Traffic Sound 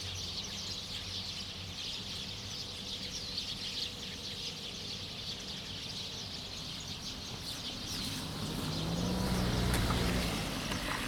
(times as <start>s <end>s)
6.4s 11.0s